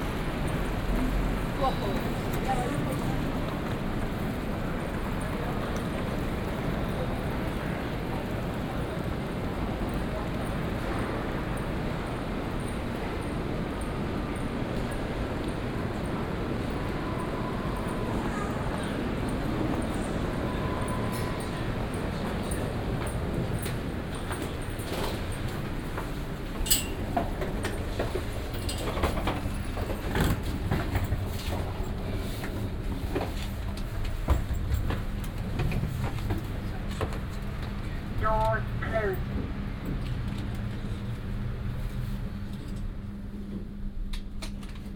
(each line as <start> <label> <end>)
0.0 elevator 44.9
0.0 shuttle ride to the north terminal 44.9